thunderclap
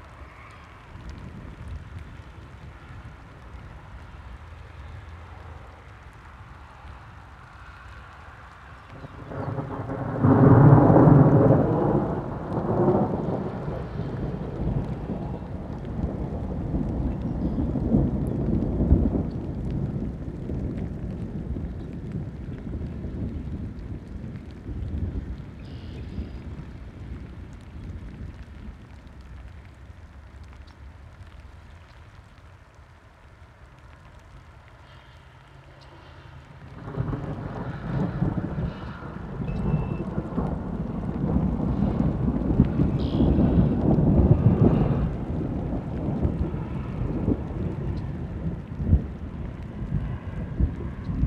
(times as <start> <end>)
8.9 29.0, 36.5 51.2